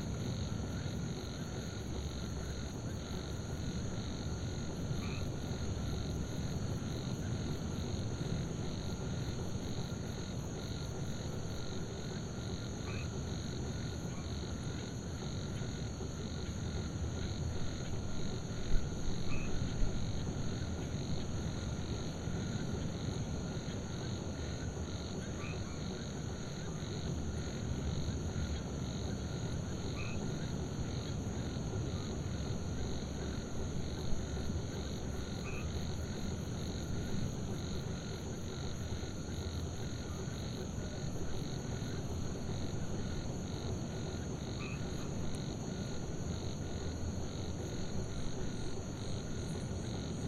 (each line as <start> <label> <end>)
0.0 frogs 50.2
0.0 insects 50.2